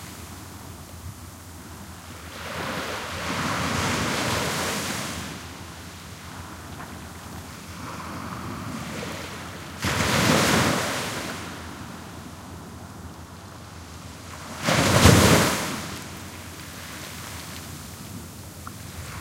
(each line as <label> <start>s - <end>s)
Waves splashing on a sandy beach 0.0s - 19.2s
very distant waves 0.0s - 19.2s